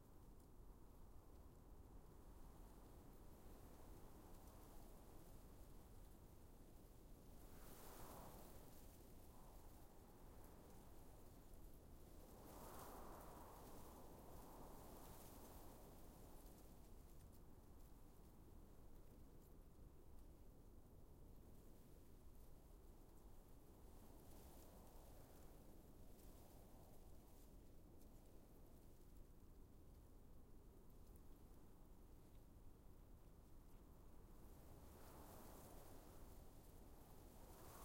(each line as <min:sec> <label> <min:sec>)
0:00.0 wind light breeze whips through grass 0:37.8